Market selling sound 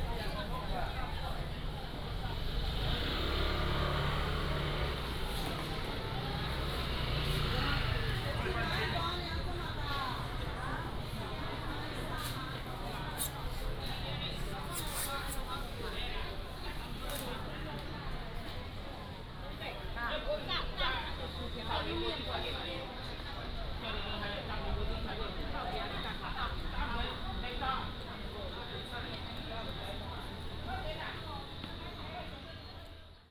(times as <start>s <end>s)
0.0s 19.0s